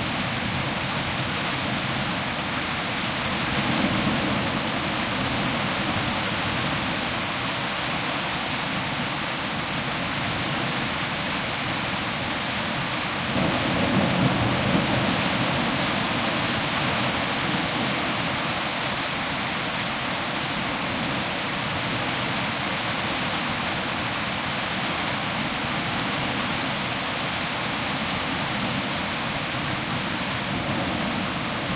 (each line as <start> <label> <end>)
0.0 powerful rain 31.7
12.7 hailstorm 19.9